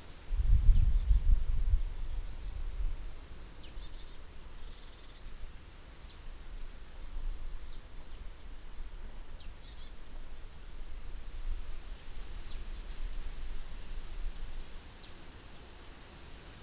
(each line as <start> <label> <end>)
0.0 soft breezes 16.6
3.6 birds 5.4